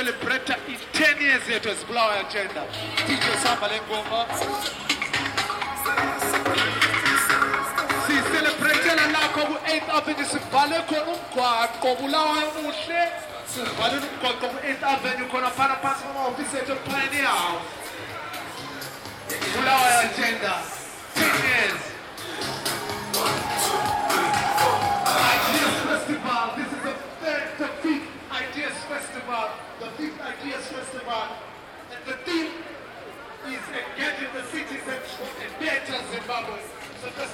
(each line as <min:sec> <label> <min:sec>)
0:22.4 celebratory procession 0:26.2